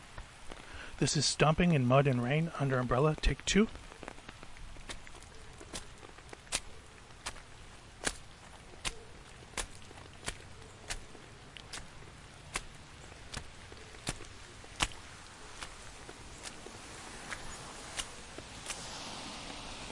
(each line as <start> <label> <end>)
0.0 rain 19.9
2.9 footstep 19.6